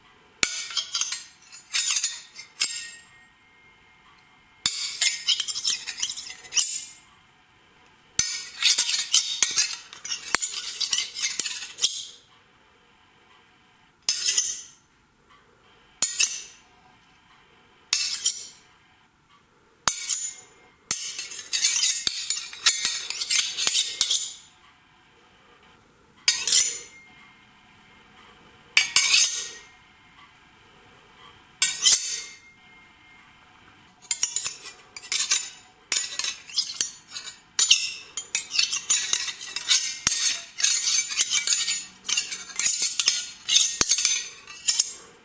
Sword slides 0:00.5 - 0:03.1
Sword slides 0:04.8 - 0:07.0
Sword slides 0:08.2 - 0:12.1
Sword slides 0:21.0 - 0:24.5
Sword slides 0:26.3 - 0:27.0
Sword slides 0:28.8 - 0:29.7
Sword slides 0:34.1 - 0:45.1

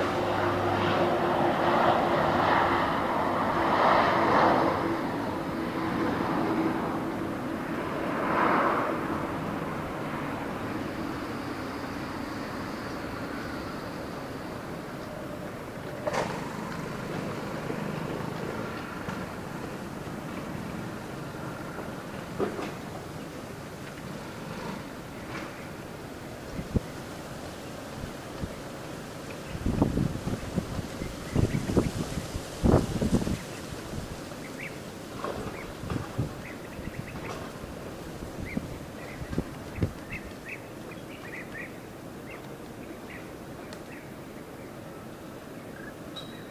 aeroplane 0:00.0 - 0:46.5
cars 0:00.0 - 0:46.5
motorbikes 0:00.0 - 0:46.5

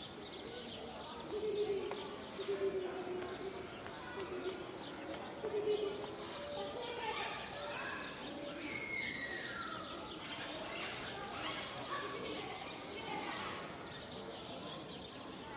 birds 0:00.0 - 0:15.5

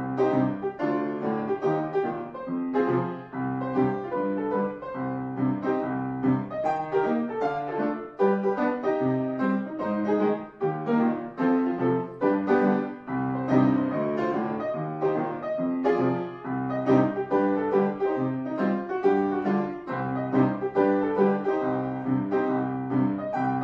Piano 0:00.0 - 0:23.6

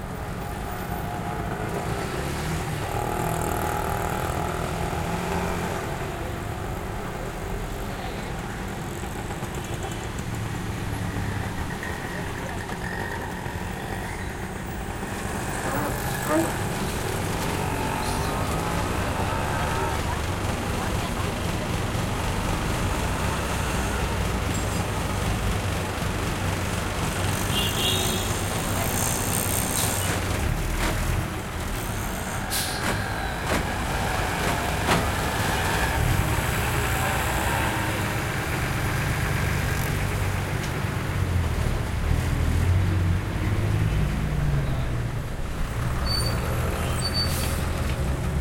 cars 0:00.0 - 0:48.4
throaty motorcycles 0:00.0 - 0:48.4
trucks 0:00.0 - 0:48.4
rickshaws 0:01.2 - 0:41.9
horn honks 0:27.3 - 0:29.2

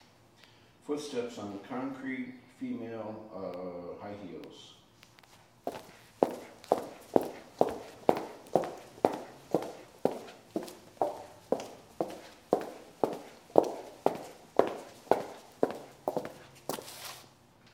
high-heels walking on concrete 0:05.1 - 0:17.3

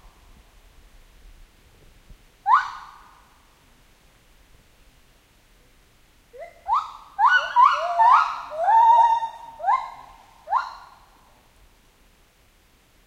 rain 0:00.0 - 0:13.0
White-Handed Gibbons 0:05.5 - 0:11.5

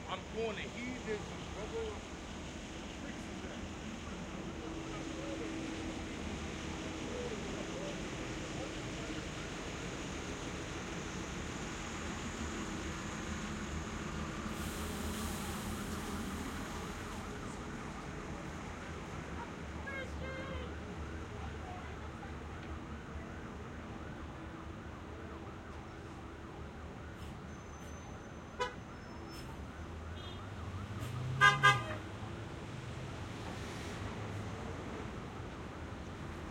loud person on the street 0:00.0 - 0:36.5
street noise 0:00.0 - 0:36.5
loud siren 0:20.0 - 0:33.8

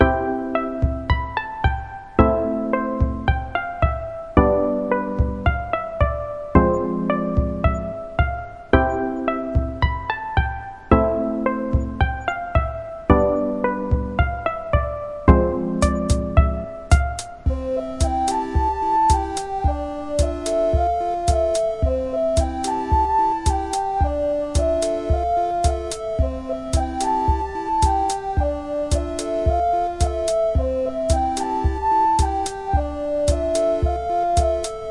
Light Tune 0:00.0 - 0:34.9

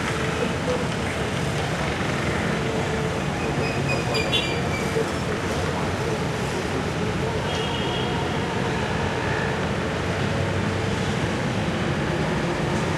moderate traffic-noise 0:00.0 - 0:12.9

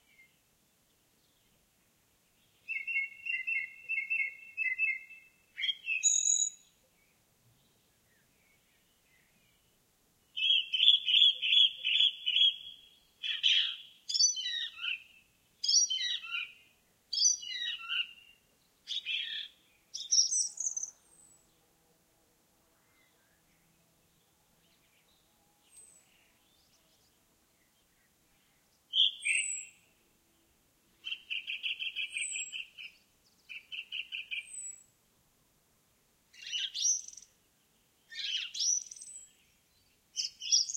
song thrush 0:00.0 - 0:21.7
song thrush 0:22.7 - 0:35.0
song thrush 0:35.8 - 0:40.7

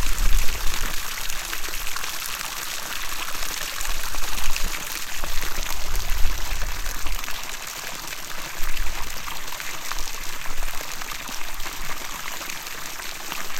Water falling from a little fountain into a pond 0:00.0 - 0:13.5

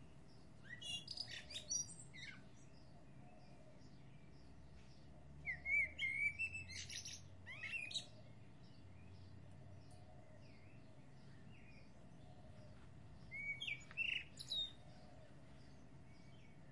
birdsong 0:00.0 - 0:16.7

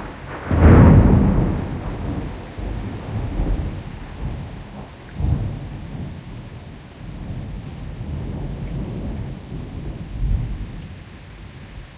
Thunder Single 0:00.0 - 0:06.1
rainstorm 0:00.0 - 0:11.9

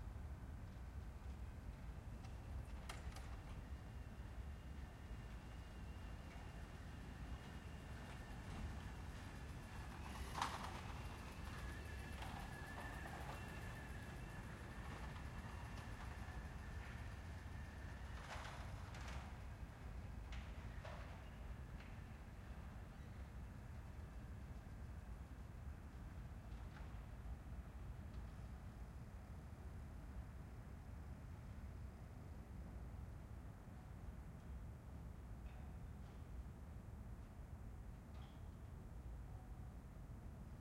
distant train 0:00.0 - 0:37.7

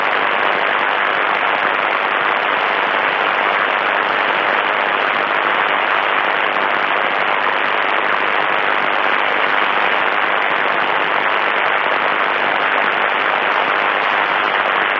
radio noise 0:00.0 - 0:14.9

